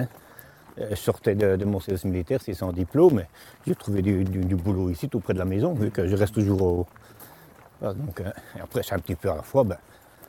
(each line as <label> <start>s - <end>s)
old worker testimony 0.0s - 10.2s